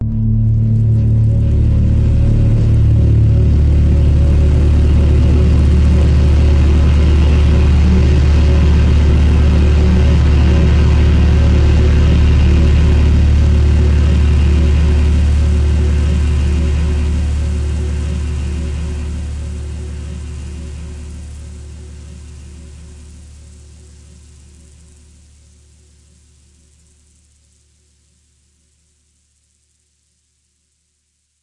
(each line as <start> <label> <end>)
0.0 multisampled pad 30.8